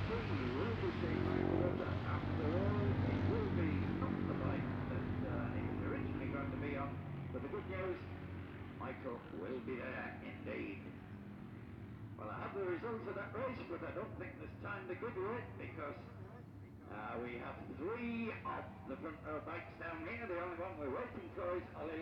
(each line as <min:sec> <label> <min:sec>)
0:00.0 classic bikes including two Patons and an MV Agusta 0:22.0